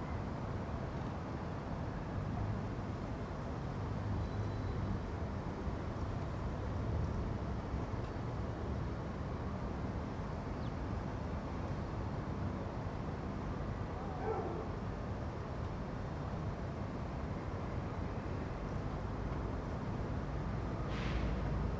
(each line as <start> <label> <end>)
0.0 Traffic 21.7